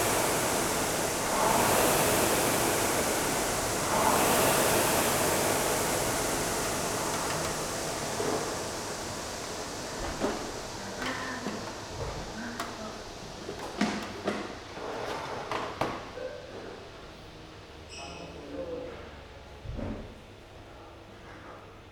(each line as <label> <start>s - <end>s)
rowing machine ergometer 0.0s - 11.9s